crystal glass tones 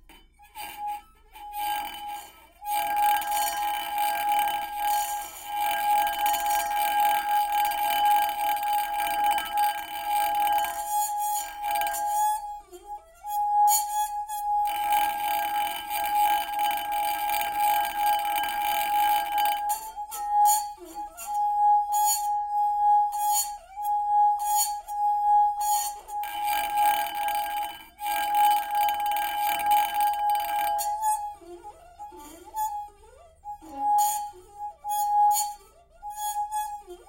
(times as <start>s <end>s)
1.6s 12.5s, 13.3s 31.2s